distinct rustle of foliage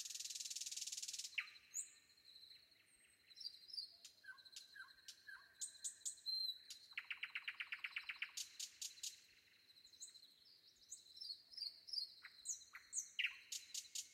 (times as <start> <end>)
0.0 3.2